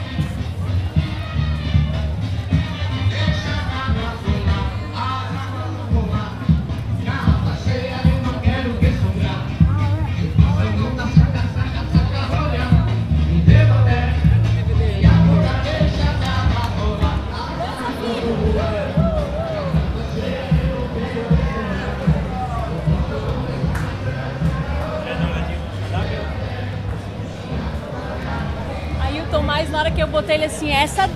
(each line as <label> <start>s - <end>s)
Carnival reharsal 0.0s - 31.1s